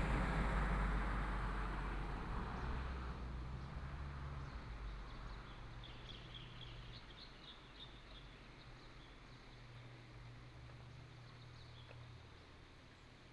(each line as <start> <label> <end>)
0.0 Traffic sound 5.7